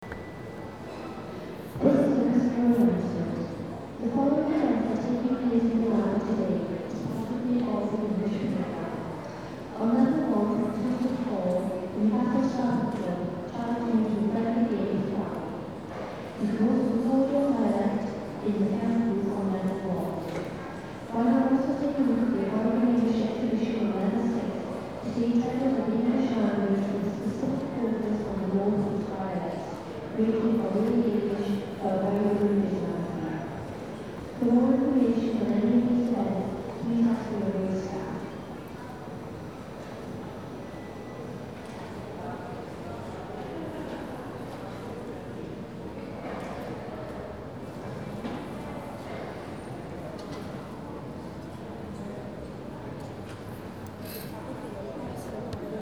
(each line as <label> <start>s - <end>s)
People talking 0.0s - 39.2s